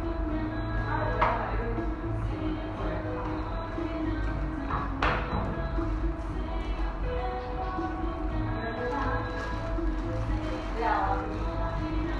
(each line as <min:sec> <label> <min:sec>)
0:00.0 música de ambiente 0:12.1